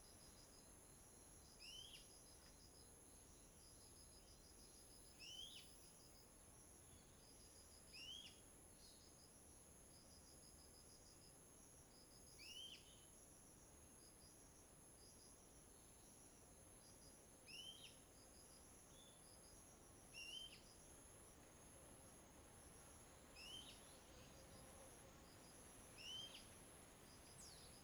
Wind 0:00.0 - 0:27.8

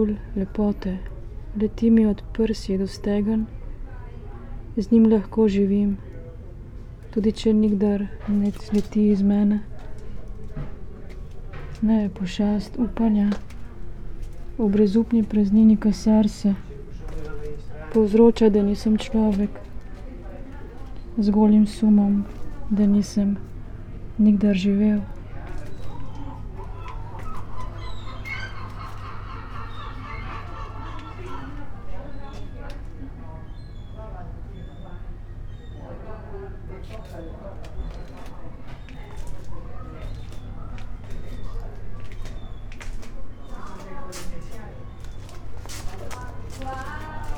reading poem 0:06.8 - 0:33.6

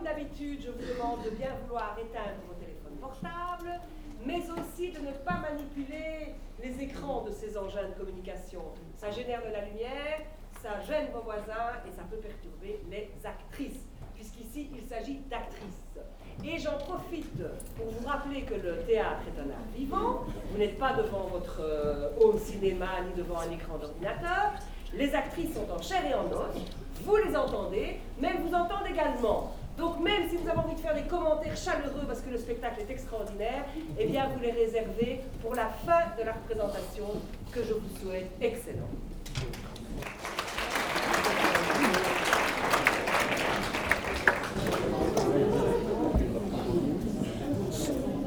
theatrical performance 0:39.6 - 0:48.2

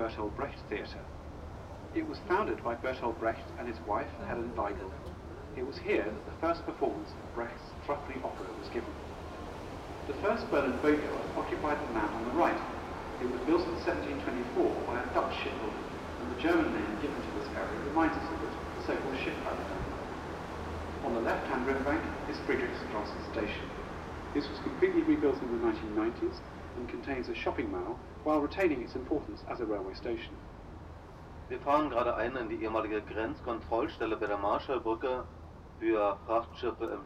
Boat Ride On Spree 0:00.0 - 0:35.2

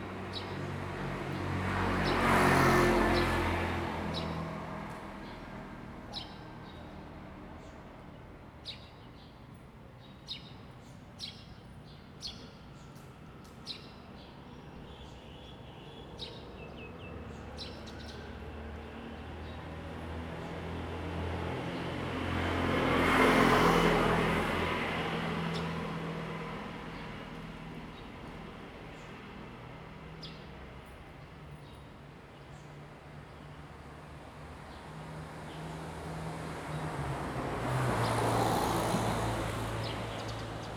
Traffic Sound 0:12.6 - 0:40.7

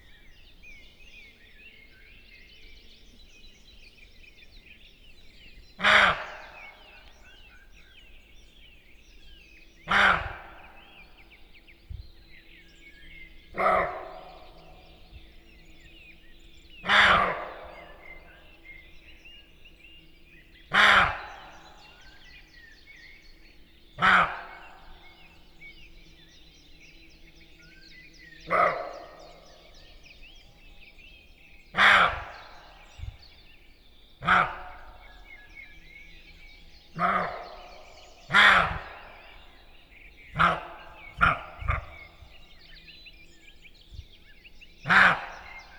Morning Birds 0:00.0 - 0:45.7
roe deer going by 0:36.9 - 0:42.5

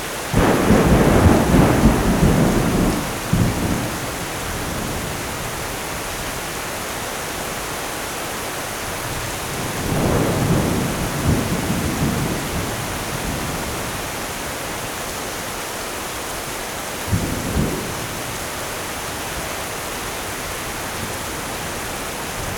rain 0:00.0 - 0:22.5
Thunder 0:00.3 - 0:05.2
Thunder 0:09.5 - 0:14.0

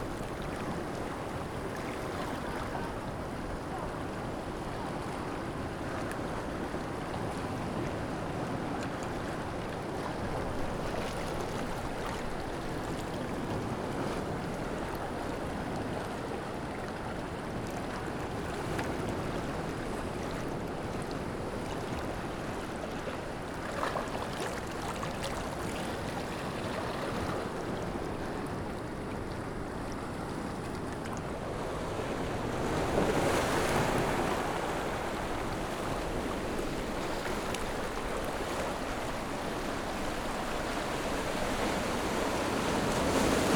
waves 0:00.0 - 0:43.5

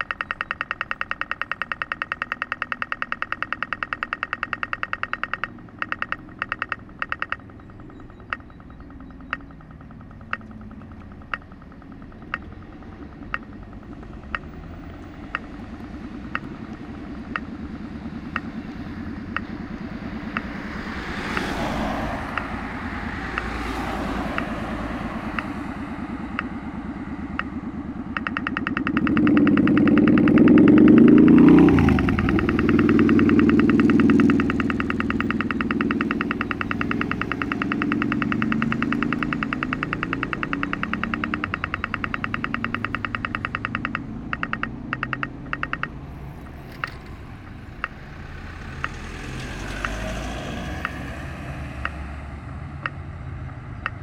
dense traffic 0:00.0 - 0:54.0

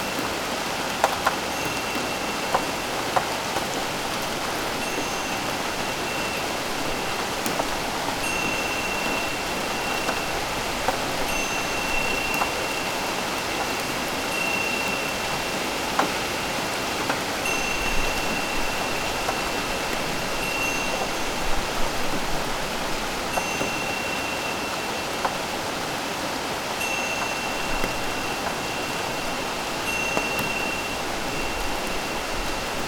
rain 0:00.0 - 0:32.8

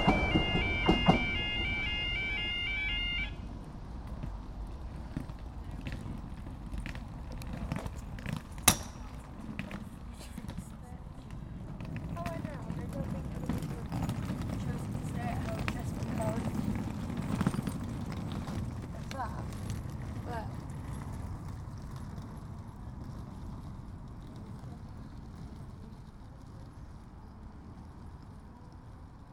Level Crossing warning 0:00.0 - 0:03.6
cars going over crossing 0:00.0 - 0:25.8
Metro train going to Newcastle Airport 0:00.0 - 0:29.3
people getting off train 0:00.0 - 0:29.3

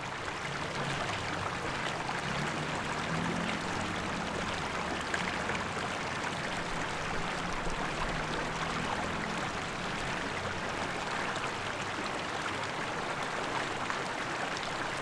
water 0:00.0 - 0:15.0

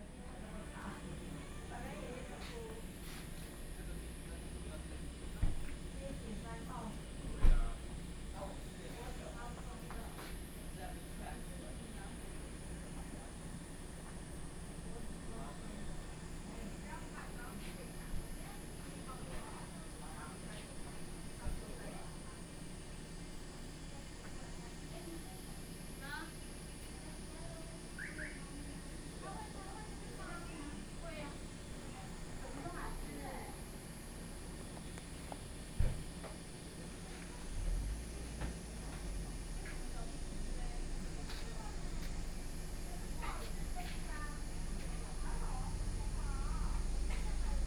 Cicadas sound 0:26.0 - 0:47.6

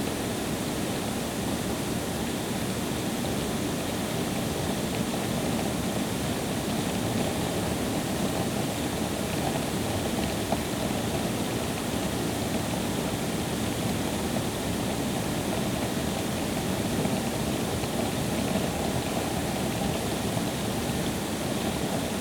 ground water treatment plant 0:00.0 - 0:22.2

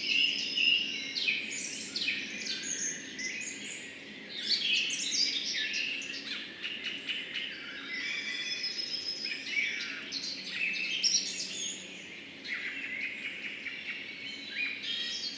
spring bird chorus 0:00.0 - 0:15.3

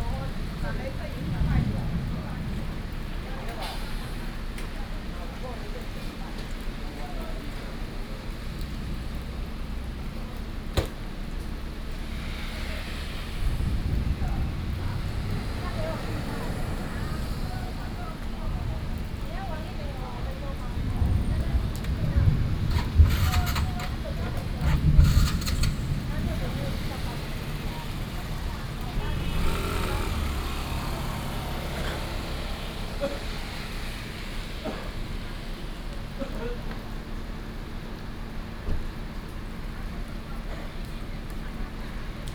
Thunderstorms 0:00.0 - 0:04.6
Traffic Sound 0:00.0 - 0:42.3
Thunderstorms 0:12.1 - 0:34.0

